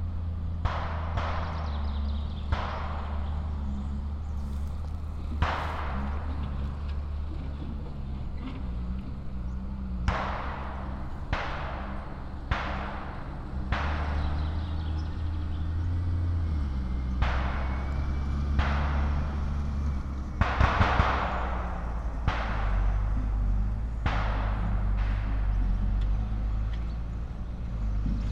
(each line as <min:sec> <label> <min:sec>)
0:00.0 Military training exercises 0:28.3